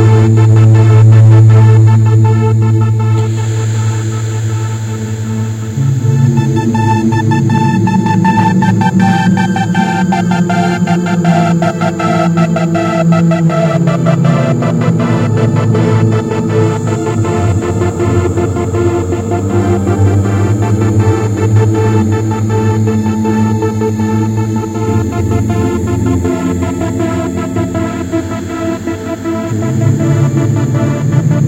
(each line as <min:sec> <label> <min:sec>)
0:00.0 meditation music 0:31.4